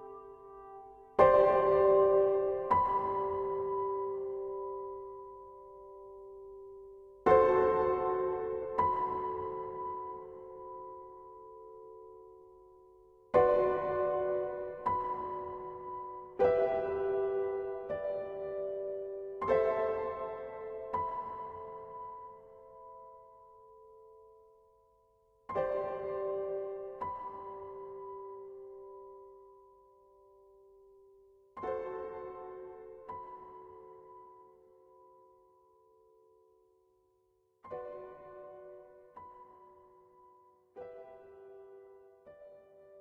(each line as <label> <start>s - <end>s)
Piano 0.0s - 43.0s